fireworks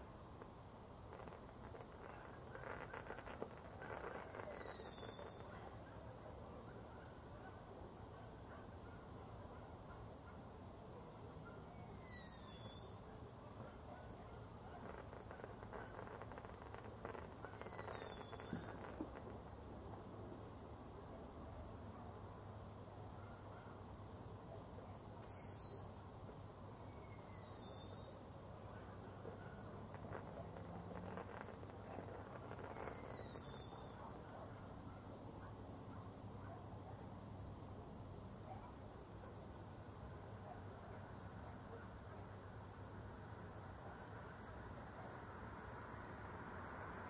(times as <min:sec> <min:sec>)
0:00.4 0:05.8, 0:14.6 0:19.4